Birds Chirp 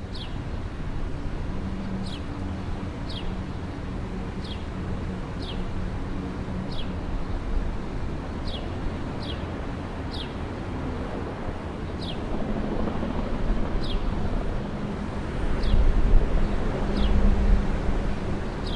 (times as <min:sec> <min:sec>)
0:00.0 0:00.7, 0:01.8 0:05.7, 0:06.6 0:07.4, 0:08.4 0:09.5, 0:10.1 0:10.4, 0:11.9 0:12.3, 0:13.8 0:14.2, 0:15.6 0:17.3